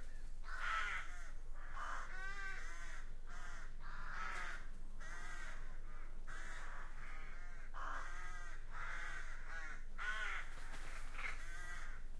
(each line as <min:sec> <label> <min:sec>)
0:00.0 flock of crows 0:12.1